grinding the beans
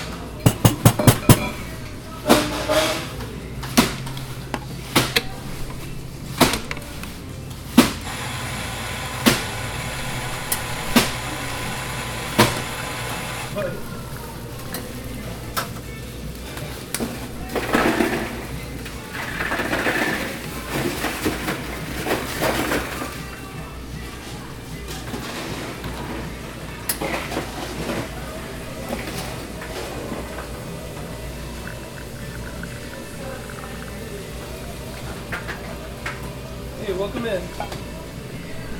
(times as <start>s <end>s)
8.0s 13.6s, 29.6s 35.8s